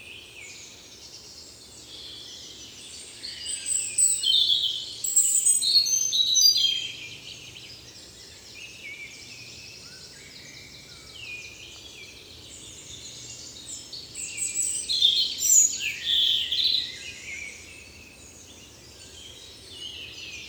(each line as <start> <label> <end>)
0.0 Blackbird 20.4